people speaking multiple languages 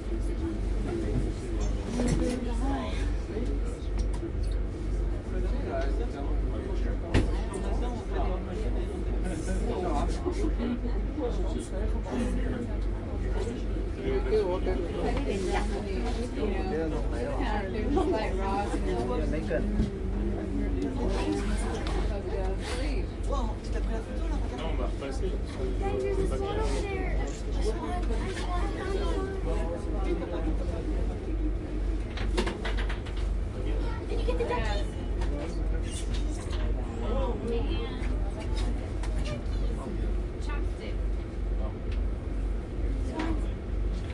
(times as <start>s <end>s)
5.1s 32.0s